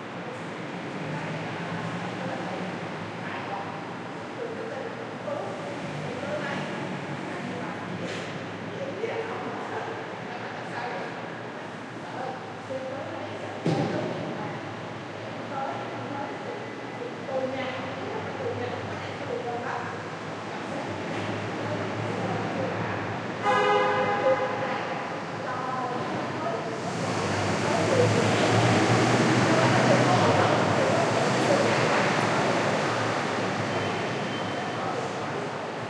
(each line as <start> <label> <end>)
0.0 conversations 35.8
19.8 cars 35.8